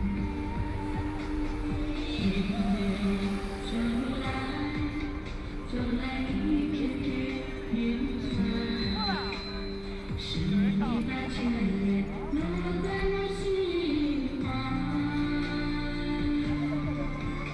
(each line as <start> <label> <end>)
0.0 People singing in the street 17.5